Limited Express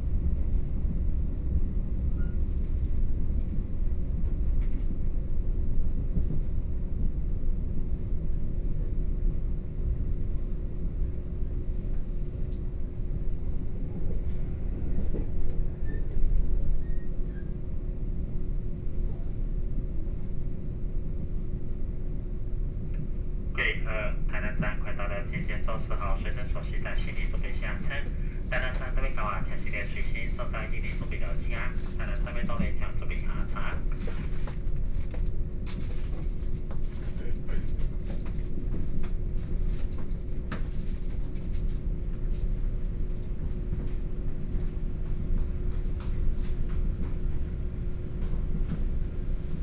23.6s 34.2s

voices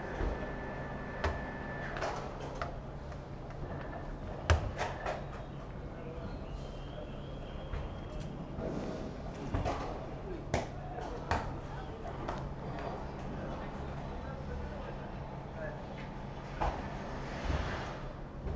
3.9s 16.9s

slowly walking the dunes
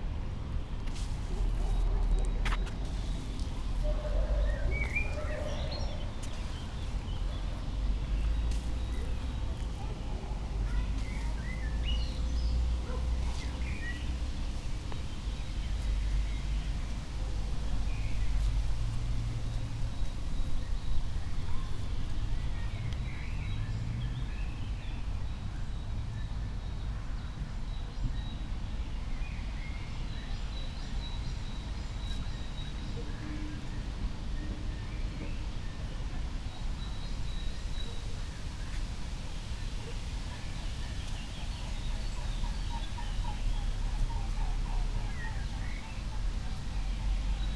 0.1s 17.1s

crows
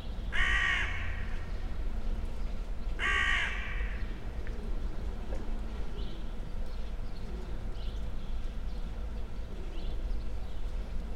0.4s 1.3s, 3.0s 4.0s

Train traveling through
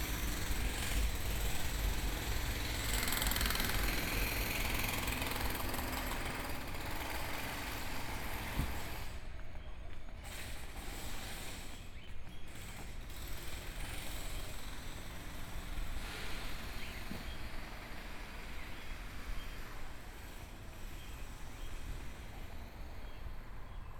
0.0s 9.4s

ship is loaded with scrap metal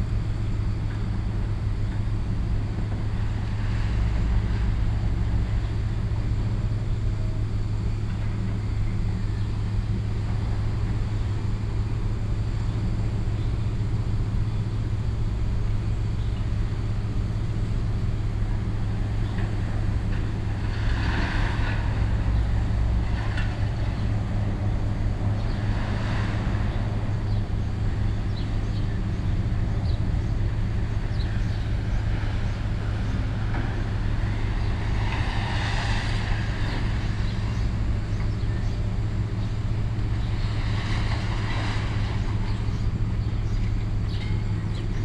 18.8s 25.0s, 25.6s 45.0s

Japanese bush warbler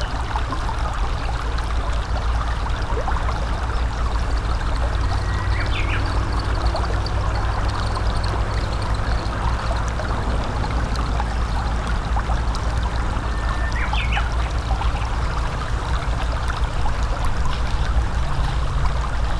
4.4s 9.7s, 13.2s 15.2s

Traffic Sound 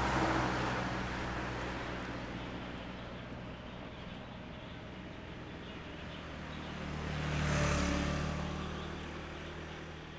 0.0s 3.4s

